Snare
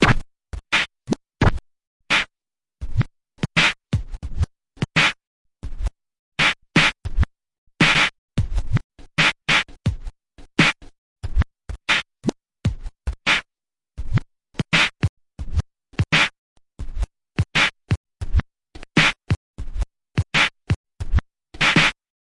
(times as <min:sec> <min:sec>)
0:00.0 0:02.3, 0:03.5 0:03.8, 0:04.8 0:05.2, 0:06.4 0:07.0, 0:07.8 0:08.2, 0:09.2 0:09.8, 0:10.6 0:10.9, 0:11.9 0:12.4, 0:13.3 0:13.5, 0:14.6 0:15.0, 0:16.0 0:16.4, 0:17.6 0:17.8, 0:18.8 0:19.3, 0:20.4 0:22.0